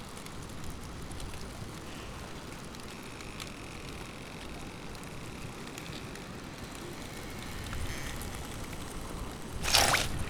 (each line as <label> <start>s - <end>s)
waves 7.2s - 10.2s
movement of thin ice bits 9.6s - 10.2s